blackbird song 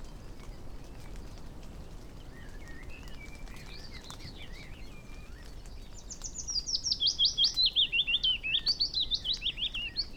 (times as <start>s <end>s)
2.3s 10.1s